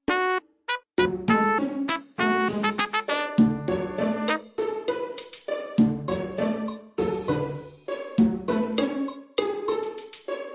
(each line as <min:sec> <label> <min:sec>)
0:00.1 trumpet 0:04.5